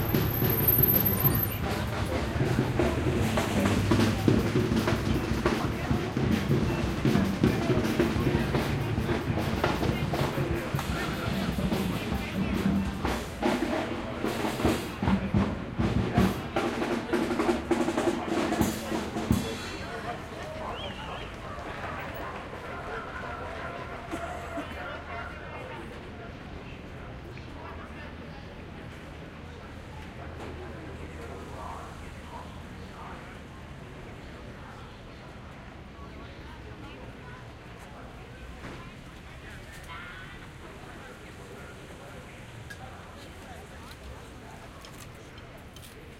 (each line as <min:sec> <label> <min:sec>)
0:00.0 drummers 0:22.7
0:00.0 protesters 0:46.1
0:00.0 crowd 0:46.1
0:00.0 traffic 0:46.1